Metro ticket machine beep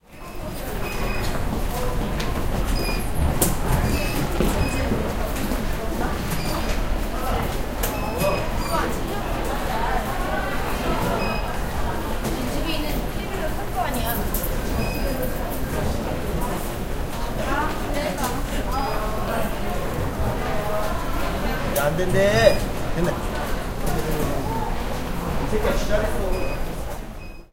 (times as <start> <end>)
0.2 1.4, 2.6 5.0, 7.8 8.9, 11.1 11.6, 14.8 15.3, 21.8 22.8, 26.2 27.5